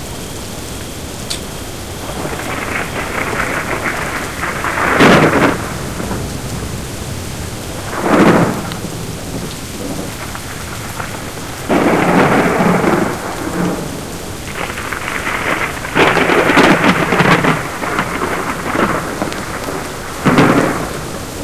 high winds 0.0 - 21.4
loud rain 0.0 - 21.4
thunderbolts 0.0 - 21.4

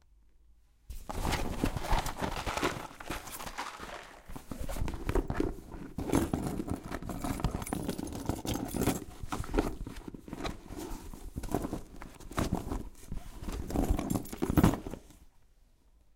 Searching for something in your bag 0.9 - 15.3

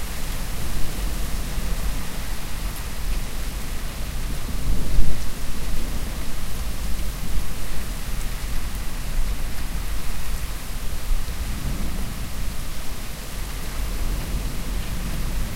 Distant, strong rain 0.0 - 15.5

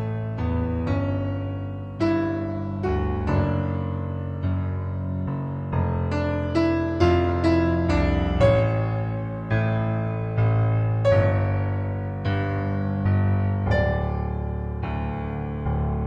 piano improv 0.0 - 16.0

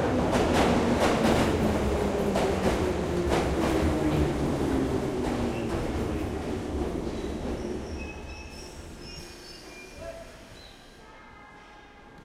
Train coming to a halt 0.1 - 11.0

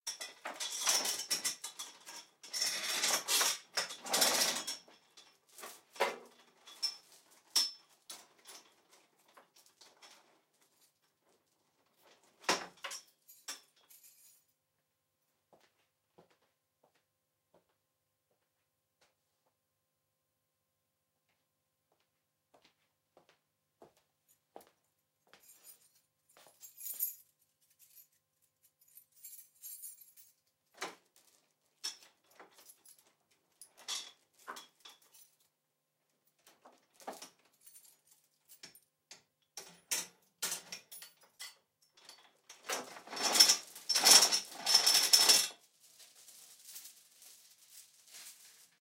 chain rattle 0.1 - 5.9
chain rattle 12.6 - 14.5
chain rattle 25.4 - 30.5
chain rattle 39.6 - 48.8

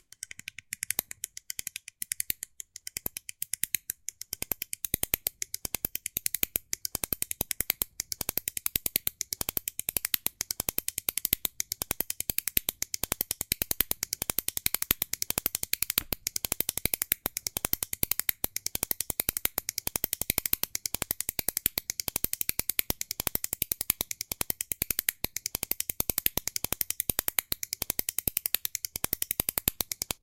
Carpenters Brace Ratchet 0.0 - 30.2

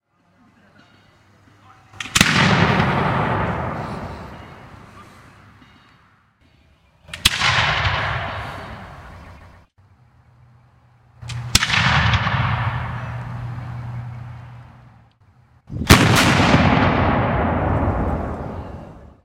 cannon being fired 2.0 - 4.7
cannon being fired 7.1 - 8.9
cannon being fired 11.2 - 14.4
cannon being fired 15.8 - 18.7

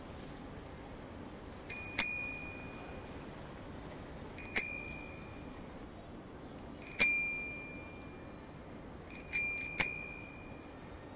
rang a few bicycle bells 1.7 - 3.2
rang a few bicycle bells 4.4 - 5.8
rang a few bicycle bells 6.8 - 11.1

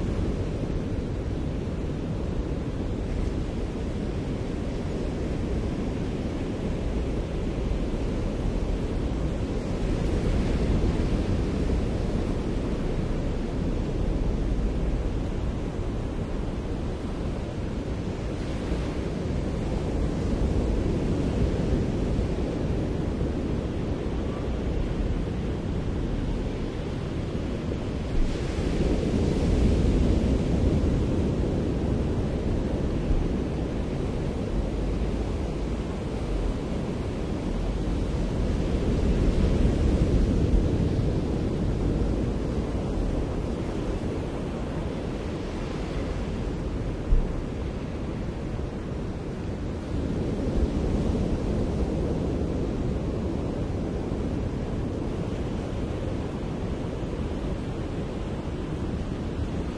waves 0.0 - 59.7

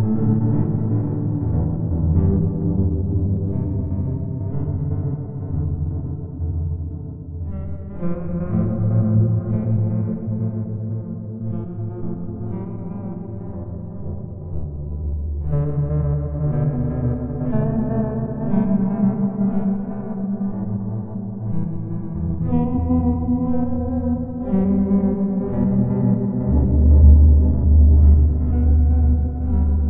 sweet and deep ambiant melody 0.0 - 29.8

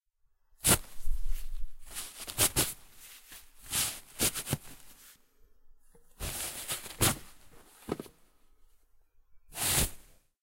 Tissues being pulled out of a tissue box 0.6 - 5.2
Tissues being pulled out of a tissue box 6.2 - 8.1
Tissues being pulled out of a tissue box 9.5 - 10.1

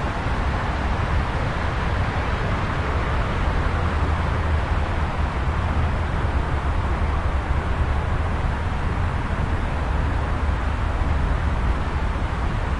Traffic from a road 0.0 - 12.7

